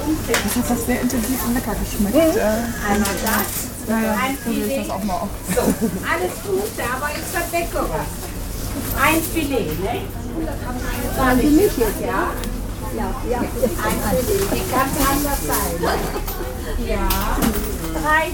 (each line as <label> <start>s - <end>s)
Conversations between the market-woman and the clients 0.0s - 18.3s
women exchanging recipes 0.0s - 18.3s